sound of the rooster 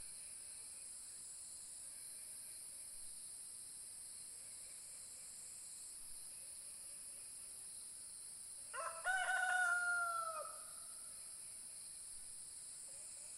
8.7s 10.8s

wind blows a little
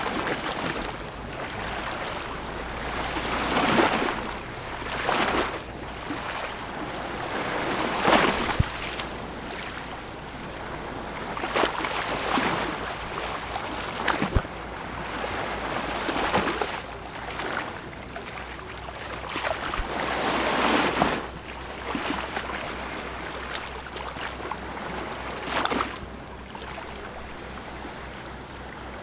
0.0s 16.9s

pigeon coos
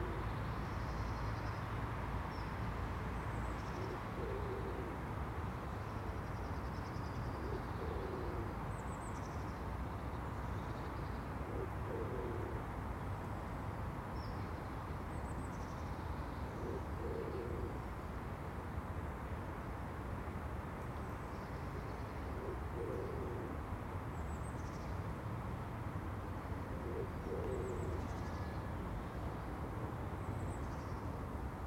0.0s 0.3s, 3.8s 5.0s, 7.4s 8.6s, 11.4s 12.7s, 16.5s 17.8s, 22.2s 23.6s, 26.7s 28.5s

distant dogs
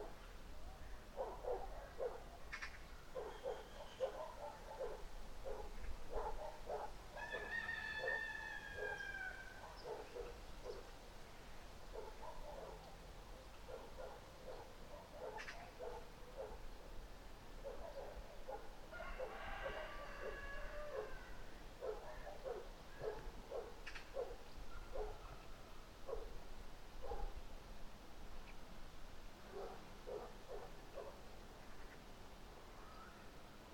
0.0s 2.5s, 3.1s 10.9s, 11.9s 17.0s, 17.6s 26.4s, 27.0s 27.4s, 29.4s 31.2s

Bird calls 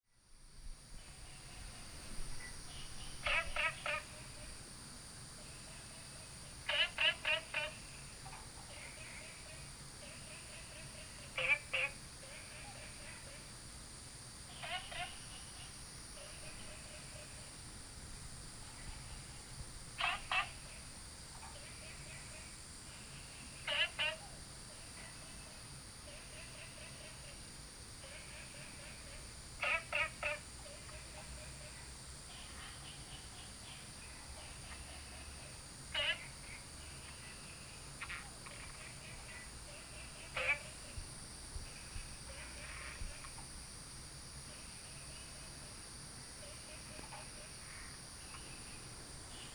1.1s 4.5s

